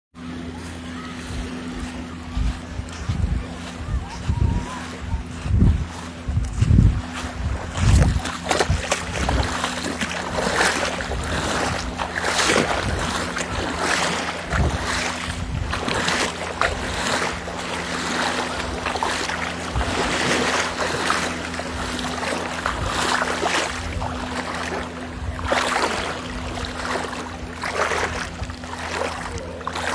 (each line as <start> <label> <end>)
0.1 People are wading in the water 29.9
0.2 waves 29.9
0.3 crowd 5.5
0.4 children are laughing 6.2